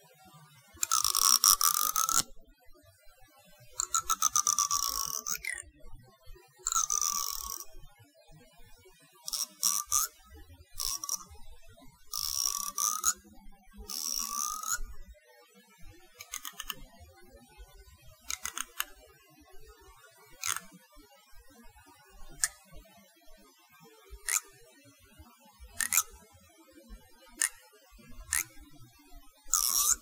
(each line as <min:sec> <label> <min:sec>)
0:00.8 comb teeth zip 0:02.2
0:03.8 comb teeth zip 0:05.6
0:06.7 comb teeth zip 0:07.7
0:09.3 comb teeth zip 0:10.1
0:10.8 comb teeth zip 0:11.3
0:12.1 comb teeth zip 0:13.2
0:13.9 comb teeth zip 0:14.8
0:16.2 comb teeth zip 0:16.8
0:18.3 comb teeth zip 0:18.9
0:20.4 comb teeth zip 0:20.7
0:25.8 comb teeth zip 0:26.1
0:28.3 comb teeth zip 0:28.5
0:29.5 comb teeth zip 0:30.0